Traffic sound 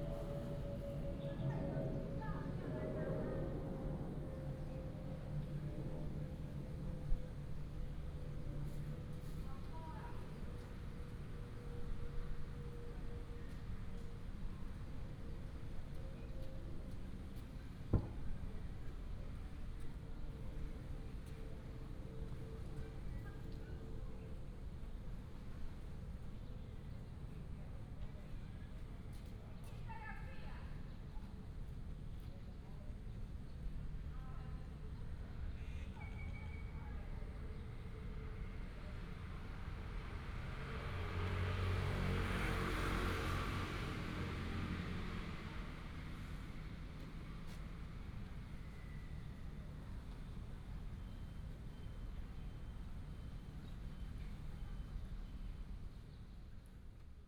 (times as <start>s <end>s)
39.7s 46.7s